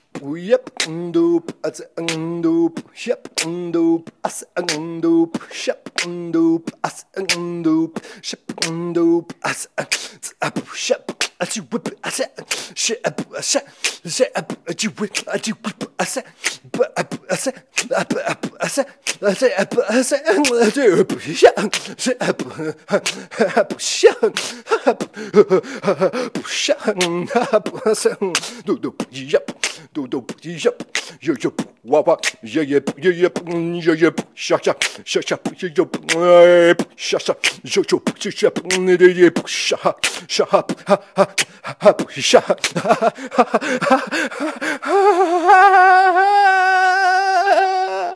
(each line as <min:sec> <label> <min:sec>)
0:00.2 snare 0:01.0
0:00.7 clap 0:01.0
0:02.0 snare 0:02.3
0:03.2 snare 0:03.6
0:04.6 snare 0:07.5
0:04.7 clap 0:04.9
0:08.5 snare 0:08.8
0:08.5 clap 0:08.8
0:09.4 highhat 0:25.2
0:13.8 snare 0:14.2
0:15.1 snare 0:16.8
0:16.4 clap 0:16.7
0:17.4 clap 0:19.5
0:17.4 snare 0:22.0
0:20.4 clap 0:20.8
0:23.0 snare 0:23.2
0:23.0 clap 0:23.2
0:26.4 snare 0:27.5
0:28.3 clap 0:28.6
0:28.3 snare 0:28.6
0:29.5 clap 0:29.8
0:29.5 snare 0:32.4
0:34.6 snare 0:35.1
0:37.4 snare 0:38.9
0:40.0 snare 0:40.3
0:40.0 clap 0:40.8
0:41.4 clap 0:43.0
0:42.3 malelaugh 0:44.5
0:42.6 snare 0:42.9